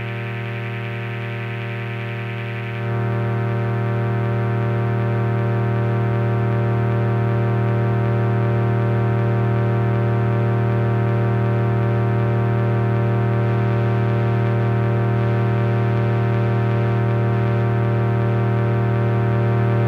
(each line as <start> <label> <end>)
0.0 analo semi modular synth 3.6